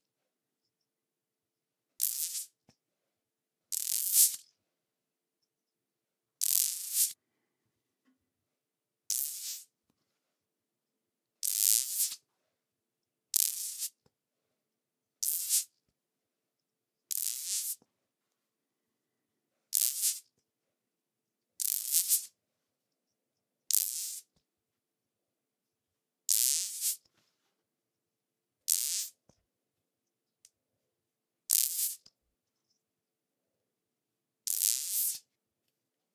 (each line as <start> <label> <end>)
2.0 magnet contact noises 2.5